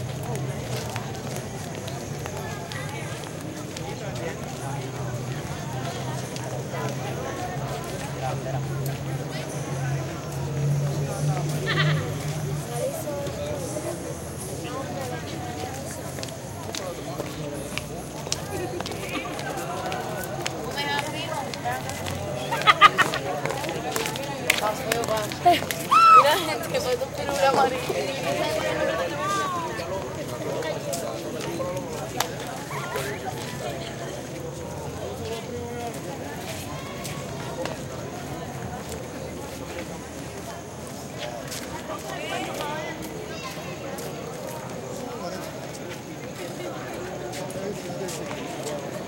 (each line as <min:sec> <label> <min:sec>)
0:00.0 cars 0:44.9
0:00.0 crowd 0:49.0